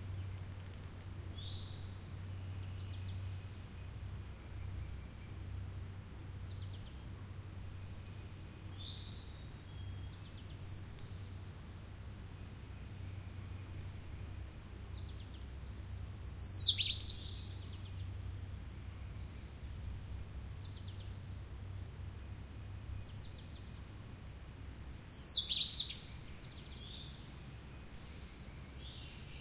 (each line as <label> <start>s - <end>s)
bird calls 15.0s - 19.2s
bird calls 24.3s - 27.2s